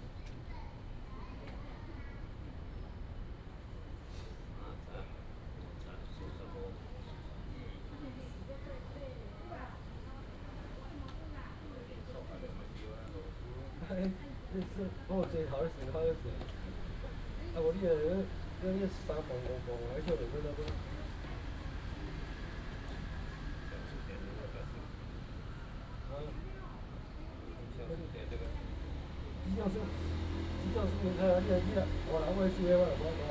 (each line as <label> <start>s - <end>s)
Group of elderly people 7.9s - 26.8s
Group of elderly people 27.4s - 33.3s